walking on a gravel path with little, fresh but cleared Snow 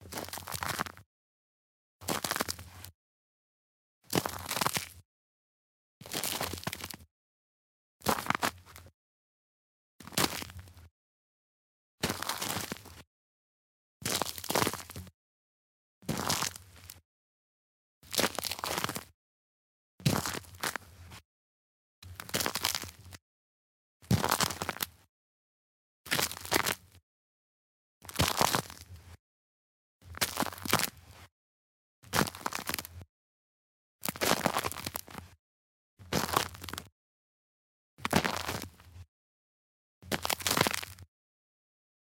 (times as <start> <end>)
0.1 1.0, 2.1 2.7, 4.1 4.8, 6.0 7.0, 8.1 8.8, 10.0 10.6, 12.0 13.0, 14.1 15.0, 16.1 17.0, 18.1 19.1, 20.1 20.9, 22.1 23.0, 24.1 24.9, 26.1 26.8, 28.1 29.0, 30.1 31.0, 32.1 33.0, 34.1 35.2, 36.1 36.9, 38.0 38.8, 40.1 41.0